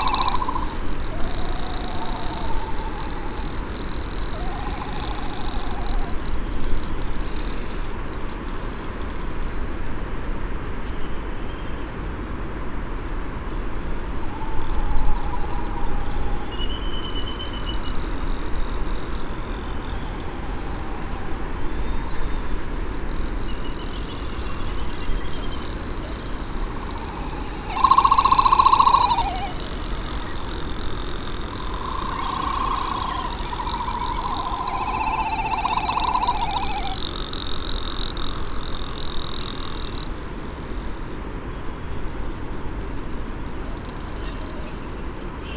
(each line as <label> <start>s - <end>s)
white tern 0.0s - 6.3s
Great frigate bird calls and 'song' 0.0s - 6.4s
canary 0.0s - 7.8s
red -tailed tropic bird 0.0s - 8.5s
laysan albatross 0.0s - 9.2s
laysan albatross 13.8s - 40.3s
red -tailed tropic bird 14.1s - 40.2s
canary 23.0s - 40.1s
Great frigate bird calls and 'song' 23.5s - 37.1s
white tern 23.7s - 40.1s